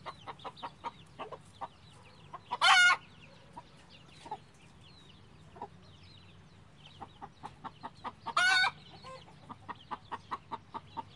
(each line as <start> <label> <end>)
0.0 hen and chickens sounds 11.1